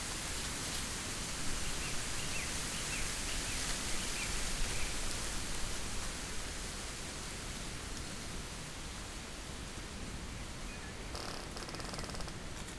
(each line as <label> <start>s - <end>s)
wind 0.0s - 12.7s
squeaking trees 11.1s - 12.4s